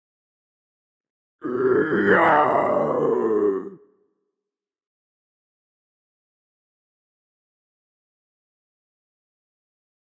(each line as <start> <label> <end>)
1.4 Heavy metal scream 3.8